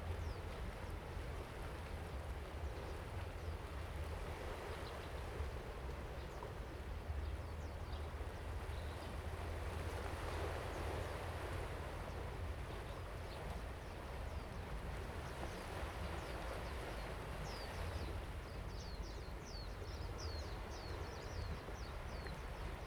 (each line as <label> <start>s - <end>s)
aircraft 0.0s - 22.8s
waves 0.0s - 22.8s